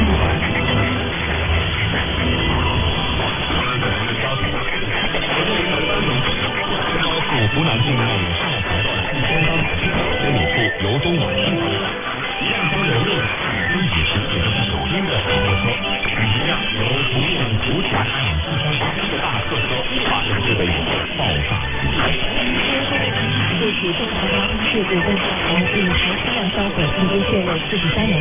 interfeerence 0:00.0 - 0:28.2
overlapping stations 0:00.0 - 0:28.2

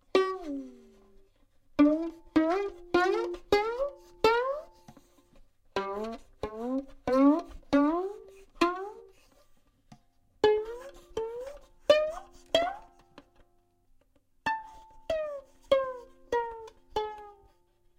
glissandos made on violin strings 0:00.0 - 0:17.9

